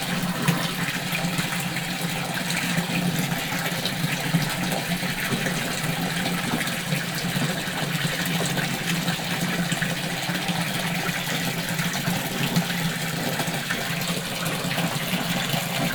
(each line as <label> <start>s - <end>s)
small fountain 0.0s - 15.9s